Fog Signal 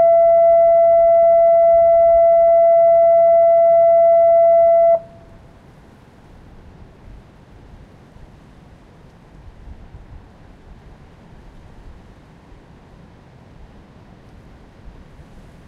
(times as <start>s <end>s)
0.0s 5.2s